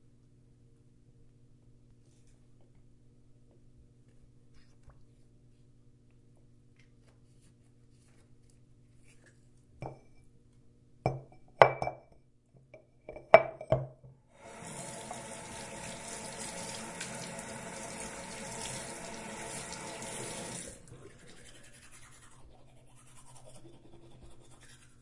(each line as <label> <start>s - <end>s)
brushing my teeth 19.7s - 25.0s